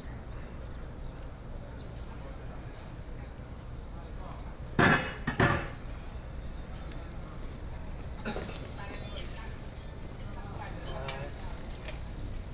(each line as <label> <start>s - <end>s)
Traffic Sound 4.5s - 12.5s